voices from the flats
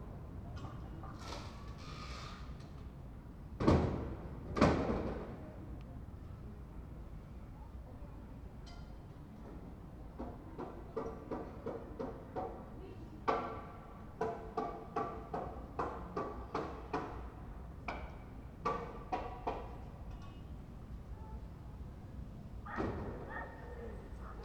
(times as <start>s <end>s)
22.6s 24.4s